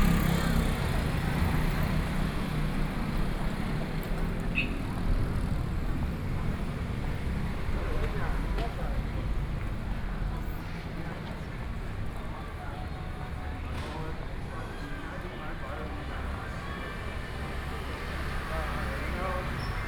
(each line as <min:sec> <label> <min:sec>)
0:00.0 People walking in the street 0:19.8
0:00.0 Traffic Noise 0:19.8
0:00.0 Various businesses voices 0:19.8